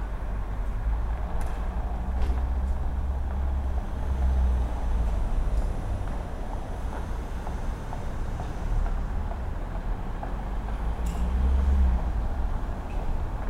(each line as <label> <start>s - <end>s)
street sounds 0.0s - 13.4s